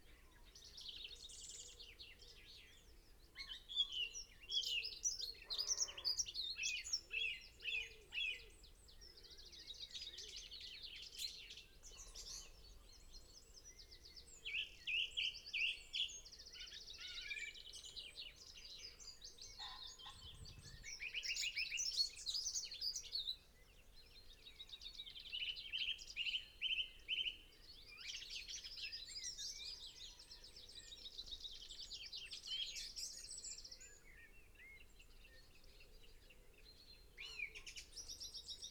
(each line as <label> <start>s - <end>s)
pheasant 0.0s - 23.4s
blackbird song 0.0s - 38.7s
crow 5.4s - 6.3s
crow 17.0s - 17.6s
crow 19.5s - 20.5s
red-legged partridge calls 19.5s - 20.8s
pheasant 25.3s - 38.7s